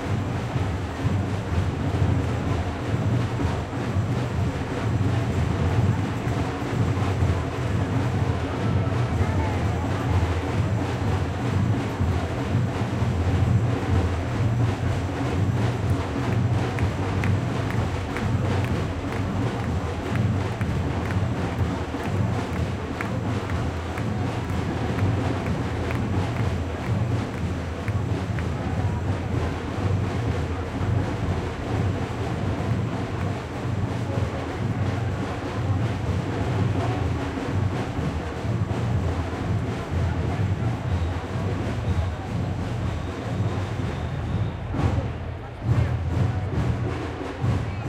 people 0.0 - 47.8

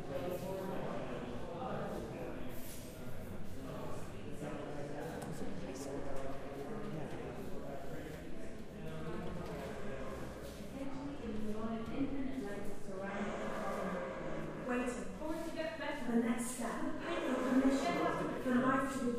chatter 0.0 - 19.1

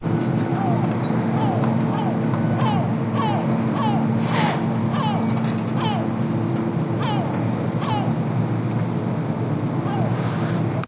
sea-birds noises 0.0 - 10.8
wind 0.0 - 10.8

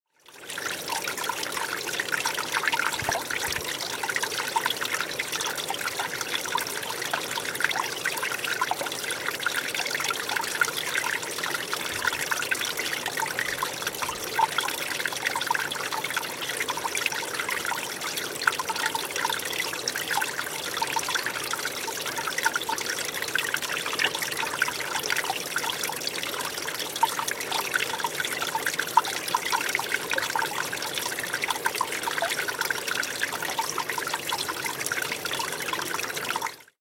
stream 0.1 - 36.8

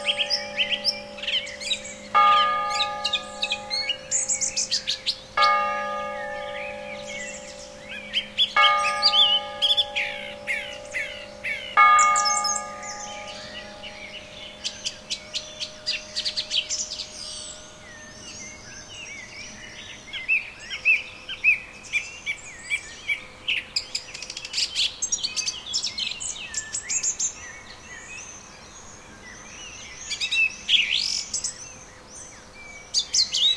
lower bell tolling the hour 9 times 0.0 - 18.6
wind in trees 0.0 - 33.5

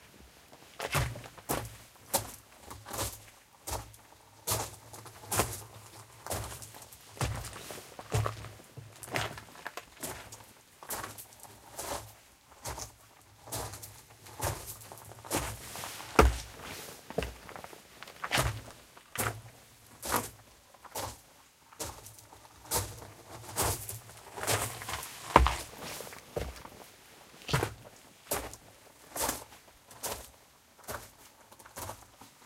Walking with boots on gravel 0.8 - 32.2

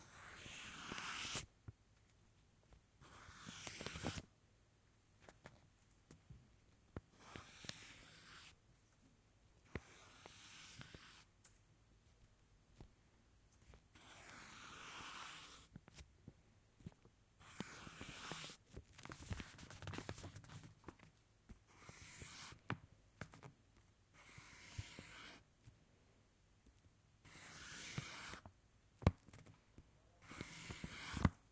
Drawing lines with a pencil on paper 0.0 - 1.5
Drawing lines with a pencil on paper 3.0 - 4.3
Drawing lines with a pencil on paper 7.0 - 8.6
Drawing lines with a pencil on paper 9.7 - 11.3
Drawing lines with a pencil on paper 13.7 - 16.0
Drawing lines with a pencil on paper 17.4 - 18.7
Drawing lines with a pencil on paper 21.5 - 22.6
Drawing lines with a pencil on paper 24.1 - 25.5
Drawing lines with a pencil on paper 27.2 - 28.5
Drawing lines with a pencil on paper 30.2 - 31.5

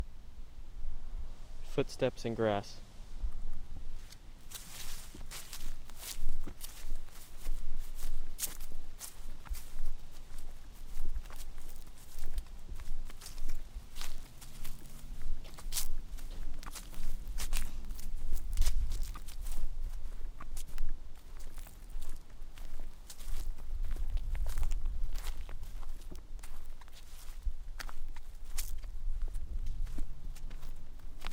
footsteps in grass 3.3 - 31.3

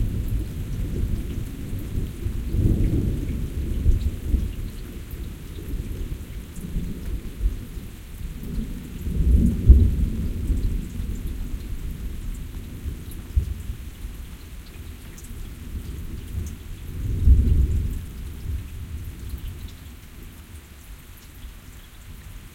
rains 0.0 - 22.5
thunder 8.5 - 11.4
thunder 17.0 - 19.0

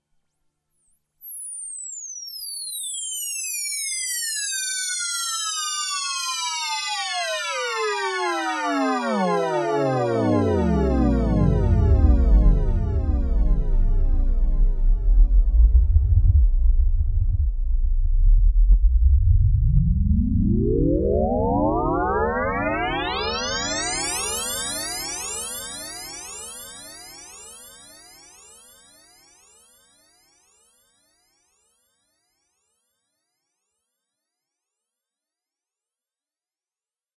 monophonic oscillator synthesizer 8.7 - 24.5

